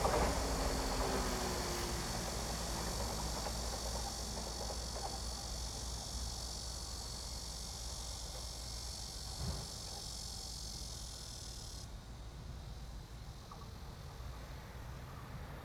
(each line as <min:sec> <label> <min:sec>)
0:00.0 The train runs through 0:15.6
0:00.0 Cicada cry 0:11.8